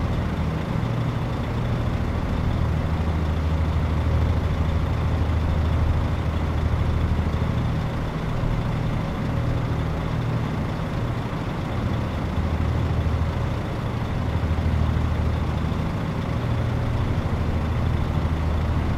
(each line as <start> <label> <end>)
0.0 truck engines kept running all the time 18.9
0.0 wind SW 29km/h 18.9